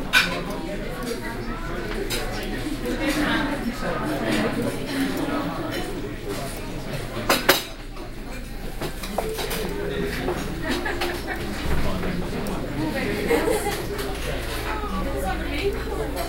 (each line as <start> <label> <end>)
0.0 crowd 16.2